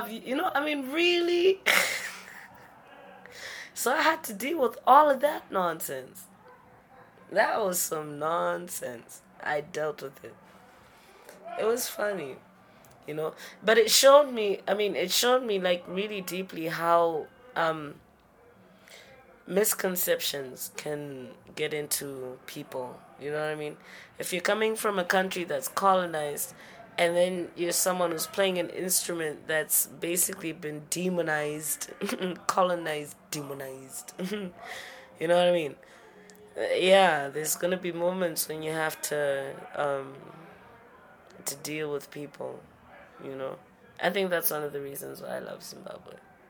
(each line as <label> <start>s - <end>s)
conversation 0.0s - 46.4s